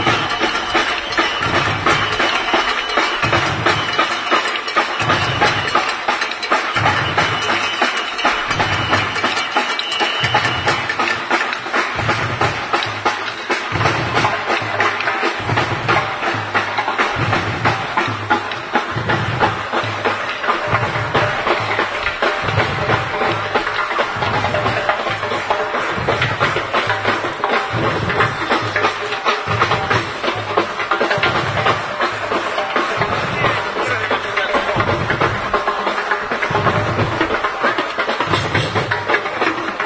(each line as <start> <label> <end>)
0.0 crowd 39.8
15.4 bass drum 37.6